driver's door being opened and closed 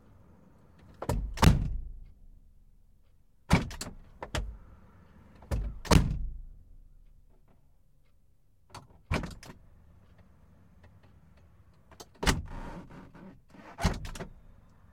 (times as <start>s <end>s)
0.8s 1.9s, 3.5s 4.6s, 5.4s 6.4s, 8.7s 9.6s, 11.9s 14.5s